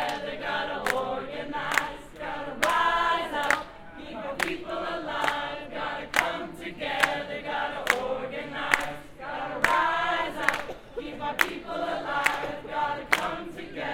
chant 0.0 - 13.9

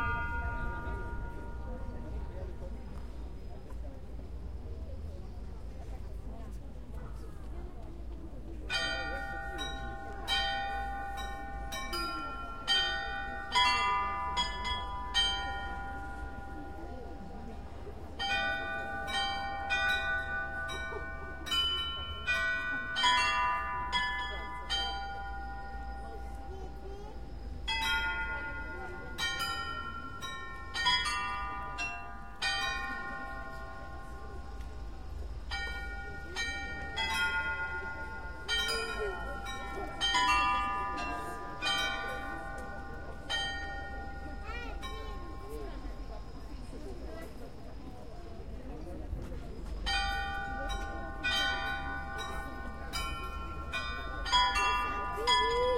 Astronomical Clock 0.0 - 6.6
Astronomical Clock 7.8 - 55.7

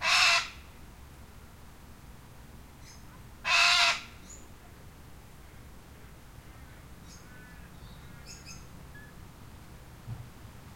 lone cockatoo calling 0.0 - 0.6
lone cockatoo calling 3.4 - 4.1

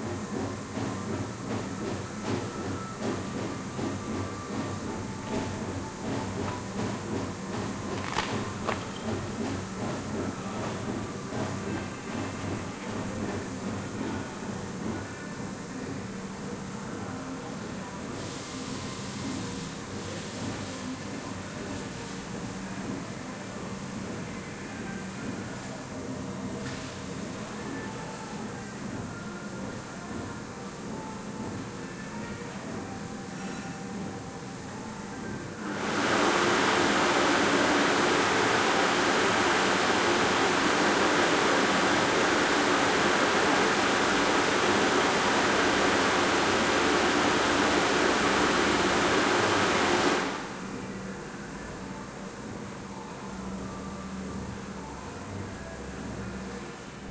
flush 35.7 - 50.5

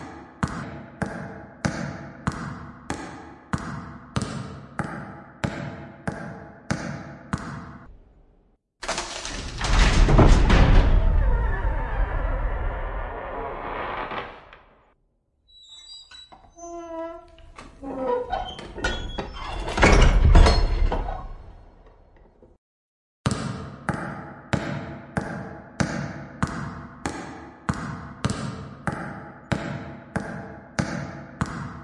opening and closing door 8.8 - 14.9
opening and closing door 15.6 - 21.6

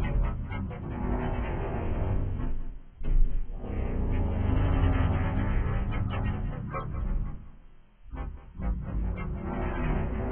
ambient noise of a planet sized computer 3.5 - 10.3

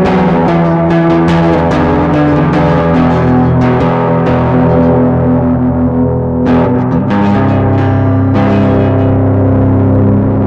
solo with heavy overdrive and delay effect 0.0 - 10.4

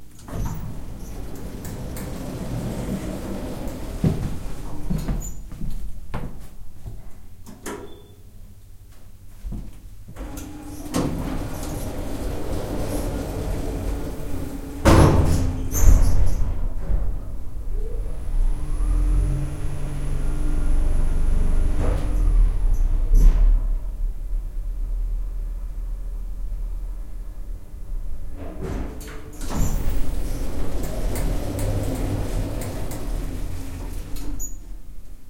elevator door closes 0.0 - 5.5
Big elevator going down 0.0 - 6.2
Walking in 0.2 - 7.3
Big elevator going down 10.0 - 35.2
elevator door closes 10.2 - 25.1
elevator door closes 25.7 - 35.2

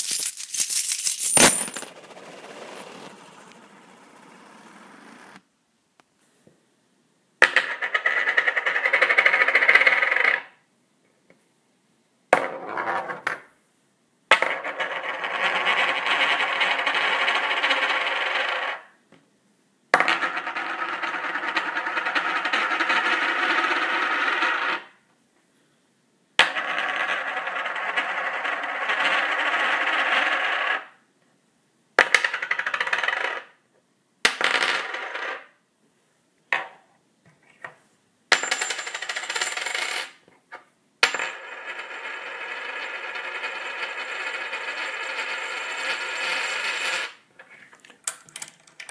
d2's (coins) rolling on various surfaces 0.0 - 5.4
d2's (coins) rolling on various surfaces 7.4 - 10.4
d2's (coins) rolling on various surfaces 14.3 - 18.9
d2's (coins) rolling on various surfaces 20.0 - 25.0
d2's (coins) rolling on various surfaces 26.4 - 31.0
d2's (coins) rolling on various surfaces 32.0 - 33.6
d2's (coins) rolling on various surfaces 34.3 - 35.6
d2's (coins) rolling on various surfaces 38.3 - 40.2
d2's (coins) rolling on various surfaces 41.0 - 47.2
d2's (coins) rolling on various surfaces 48.1 - 48.9

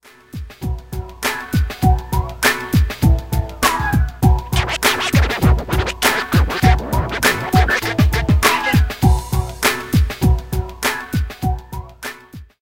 beat 3.6 - 9.2
scratching 4.6 - 8.9

